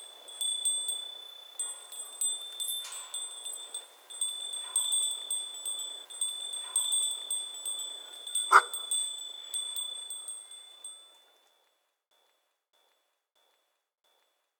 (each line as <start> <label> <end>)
0.0 herd of goats with bells 11.3